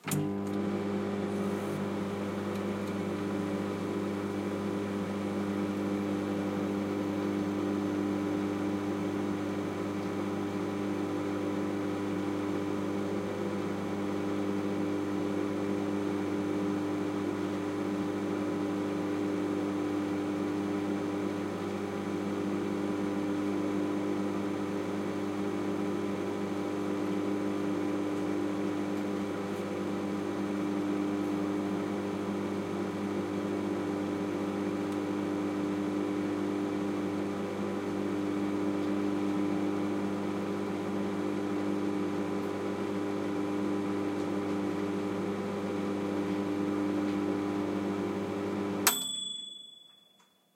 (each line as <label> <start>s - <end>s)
microwave cooking 0.0s - 49.6s
microwave time ping's 48.8s - 50.4s